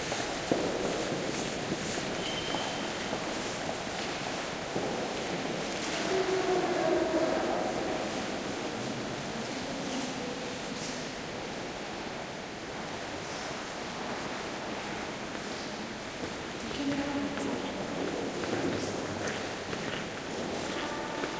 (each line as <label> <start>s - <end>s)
steps 0.0s - 9.1s
steps 15.3s - 21.3s
soft voices 16.6s - 21.3s